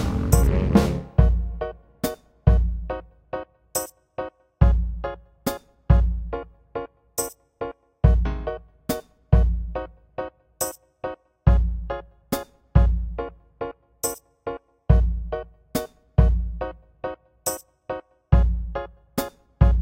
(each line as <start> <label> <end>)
0.0 saxophone 1.8
0.0 drums 3.0
0.0 Bass 3.3
4.6 drums 6.4
4.6 Bass 6.6
8.0 drums 9.9
8.0 Bass 10.1
11.5 Bass 12.2
11.5 drums 13.3
12.8 Bass 13.4
14.9 Bass 17.0
14.9 drums 16.7
18.3 Bass 19.8
18.4 drums 19.8